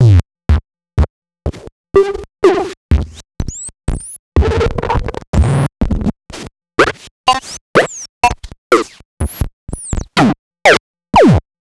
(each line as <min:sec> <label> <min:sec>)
0:06.8 Electronic blips n yips 0:08.9